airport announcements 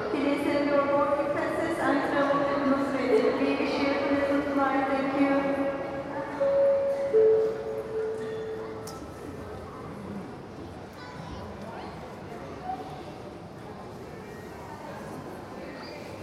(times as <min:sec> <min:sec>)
0:00.0 0:09.6